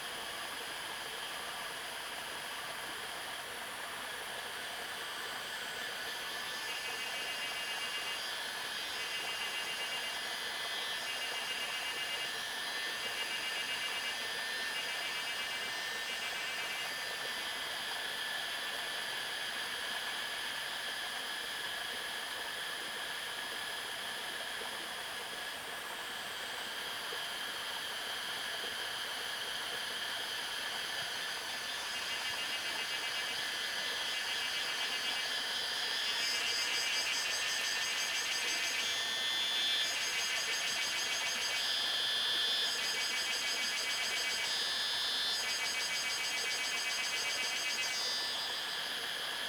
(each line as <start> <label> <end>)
5.1 Cicada sounds 18.6
27.7 Cicada sounds 49.4